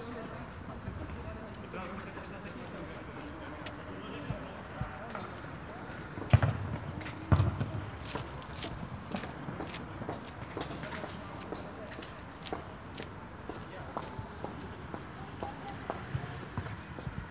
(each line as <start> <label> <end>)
0.0 amateur soccer match played on a community field 17.3